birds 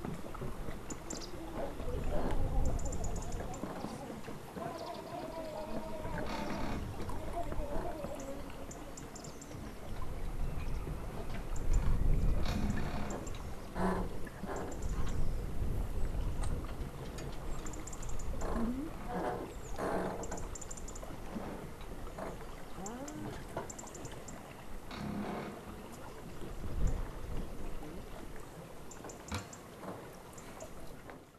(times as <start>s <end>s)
0.3s 15.6s, 19.4s 24.6s